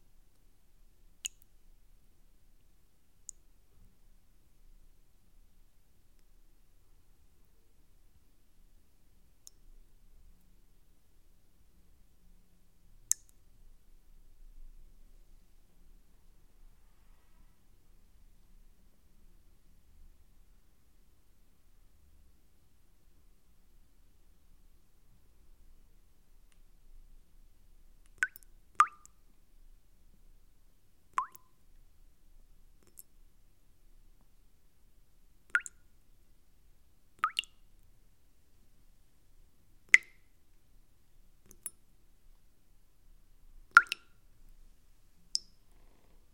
water drops in a bowl 0:13.1 - 0:13.4
water drops in a bowl 0:28.0 - 0:29.2
water drops in a bowl 0:31.2 - 0:31.6
water drops in a bowl 0:35.5 - 0:35.8
water drops in a bowl 0:37.2 - 0:37.6
water drops in a bowl 0:39.9 - 0:40.3
water drops in a bowl 0:43.7 - 0:44.2
water drops in a bowl 0:45.4 - 0:45.6

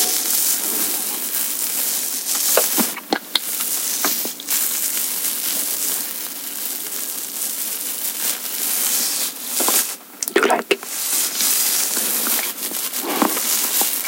noise of my chin being scratched 0:00.0 - 0:06.0
noise of my chin being scratched 0:08.2 - 0:14.0

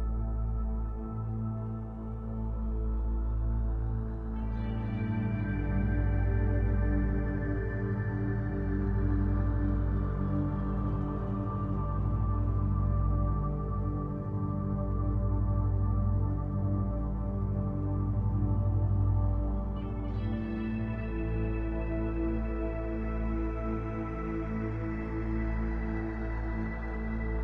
synthesizer 0:00.0 - 0:27.4

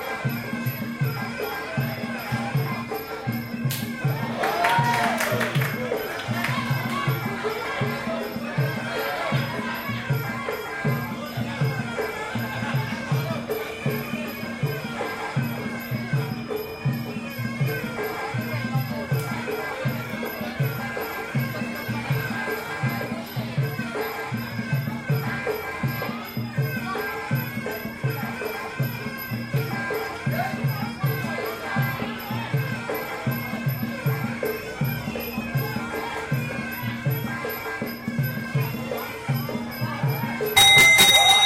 traditional thai music 0:00.0 - 0:41.4

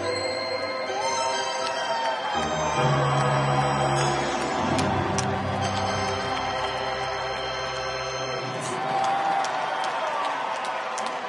organ playing 0:00.0 - 0:08.8
crowd 0:00.0 - 0:11.2

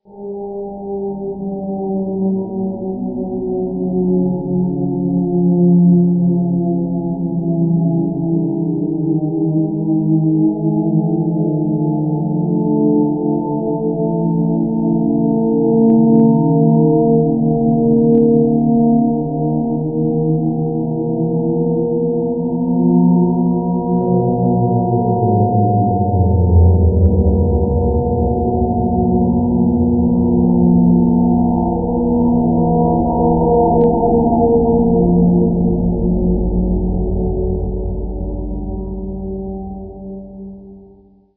massive sirens going off 0:23.4 - 0:39.1

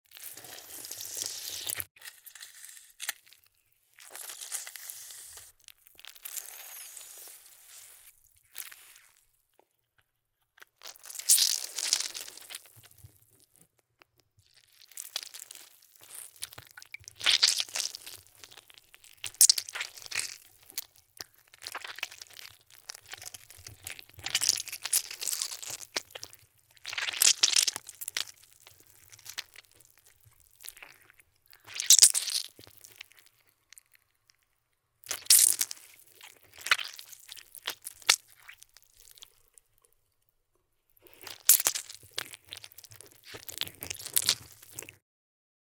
Squeezed lemon with juice 0:00.1 - 0:09.4
Squeezed lemon with juice 0:41.0 - 0:45.0

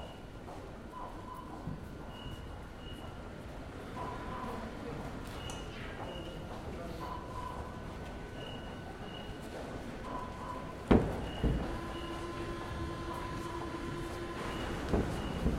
Parisian Metro 0:00.0 - 0:15.5

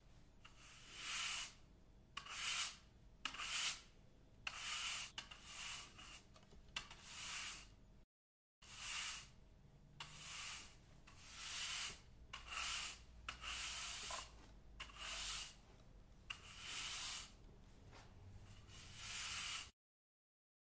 broom sweeping in different speeds 0:00.6 - 0:01.6
broom sweeping in different speeds 0:04.6 - 0:06.3
broom sweeping in different speeds 0:06.9 - 0:07.8
broom sweeping in different speeds 0:08.6 - 0:09.4
broom sweeping in different speeds 0:10.0 - 0:15.7
broom sweeping in different speeds 0:16.3 - 0:19.8

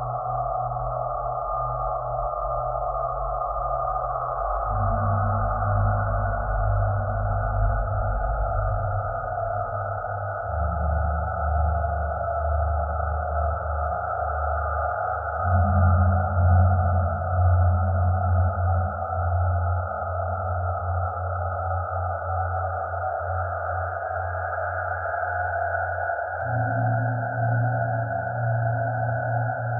Drone 0:00.0 - 0:29.7

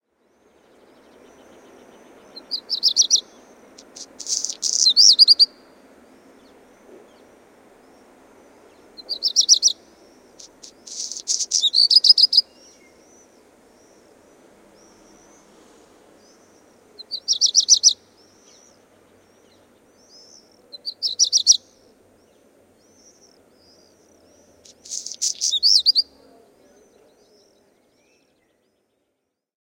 black redstart 0:00.1 - 0:29.2
city rumble 0:00.2 - 0:21.0
Calls of swifts 0:00.2 - 0:28.9
street noise 0:00.3 - 0:21.0

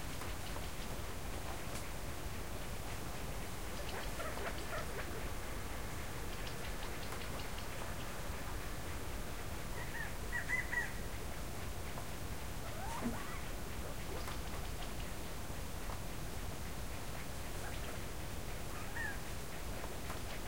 birds 0:09.8 - 0:11.1
birds 0:18.7 - 0:19.9

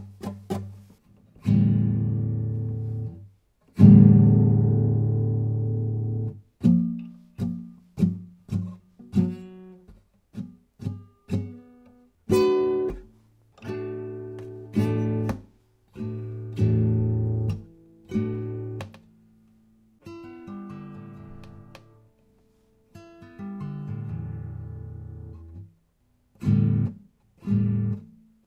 Acoustic guitar thrum 0:12.4 - 0:13.1
Acoustic guitar thrum 0:14.4 - 0:15.6

